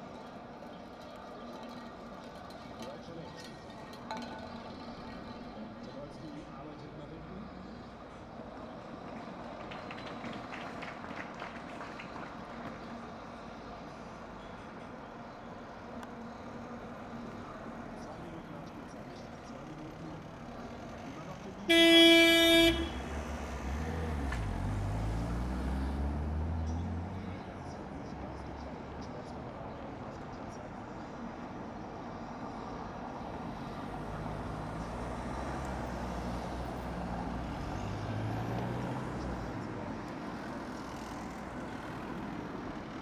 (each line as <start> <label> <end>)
0.0 people watching tv in the streets 43.0